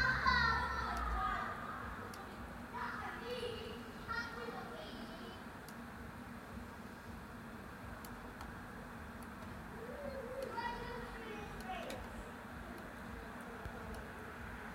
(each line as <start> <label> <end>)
0.0 people/children talking 5.5
9.8 people/children talking 14.2